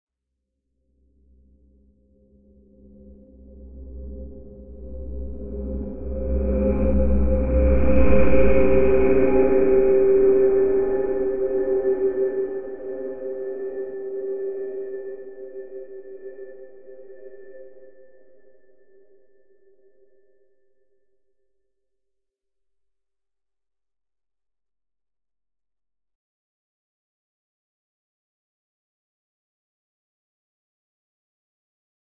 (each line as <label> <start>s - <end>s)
drone 2.4s - 18.3s